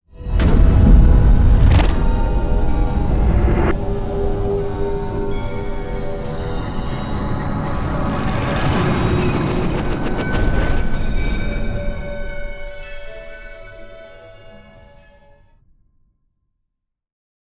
0.3s implosion 4.8s
0.3s impact 5.9s
0.3s boom 3.8s
0.3s whoosh 13.8s
0.4s riser 15.0s
6.5s implosion 13.1s

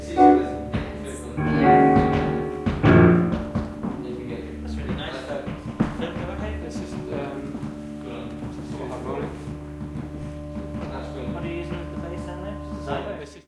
0.0s voices 3.3s

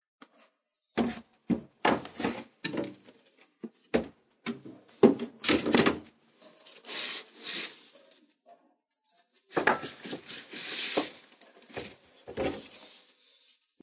9.4s finding things inside of it 13.7s

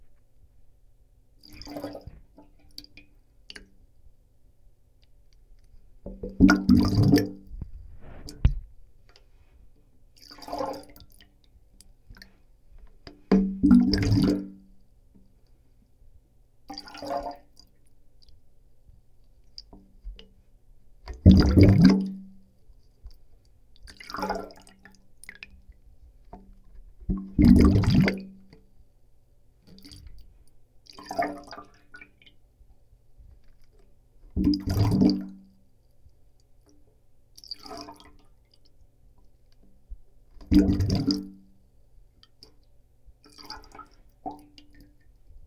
1.4s underwater bubbles made with a small plastic cup 3.7s
6.0s underwater bubbles made with a small plastic cup 8.6s
10.2s underwater bubbles made with a small plastic cup 11.3s
13.3s underwater bubbles made with a small plastic cup 14.7s
16.7s underwater bubbles made with a small plastic cup 17.7s
21.1s underwater bubbles made with a small plastic cup 22.4s
23.8s underwater bubbles made with a small plastic cup 25.7s
26.4s underwater bubbles made with a small plastic cup 28.6s
30.9s underwater bubbles made with a small plastic cup 32.4s
34.3s underwater bubbles made with a small plastic cup 35.5s
40.4s underwater bubbles made with a small plastic cup 41.5s

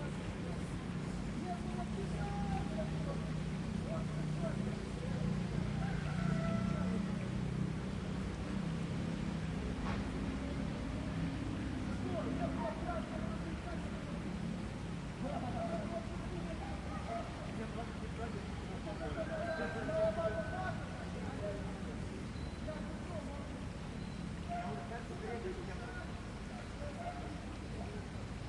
0.0s heavy traffic 28.4s
0.0s peoples background 28.4s
1.4s birds 8.6s
15.2s birds 28.4s

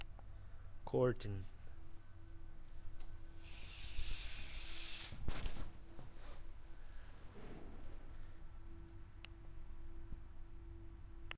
3.2s curtain1 8.9s

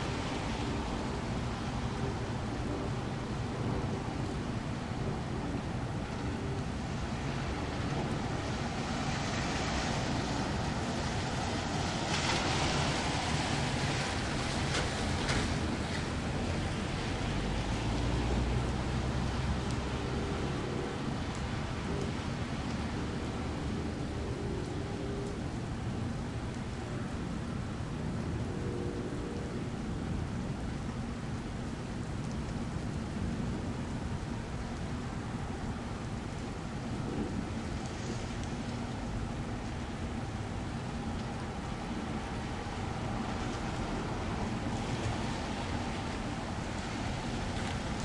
0.0s Planes pass overhead 48.0s
0.0s Vehicles passing in the rain 48.0s
0.0s rain 48.0s
7.1s trucks 26.1s

